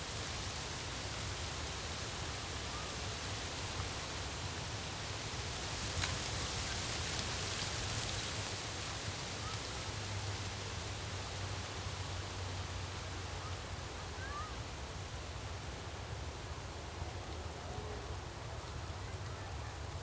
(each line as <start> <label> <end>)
0.0 light breeze in the poplars 12.4